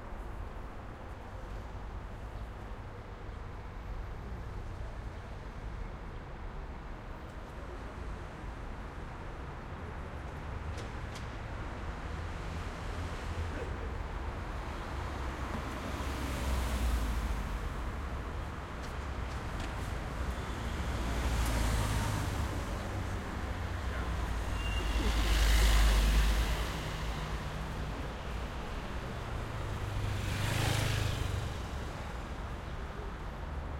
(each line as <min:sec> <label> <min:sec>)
0:00.0 Traffic 0:33.7